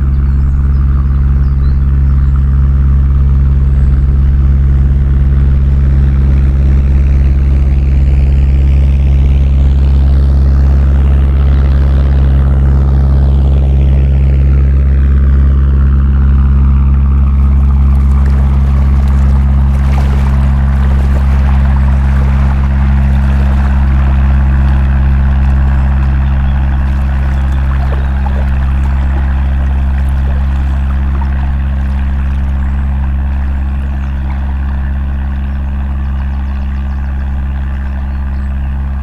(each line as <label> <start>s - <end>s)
Narrowboat passes 0.0s - 14.1s
Narrowboat passes 16.2s - 39.0s
boat's wash laps the sand 17.3s - 39.0s
two geese fly overhead together 17.4s - 39.0s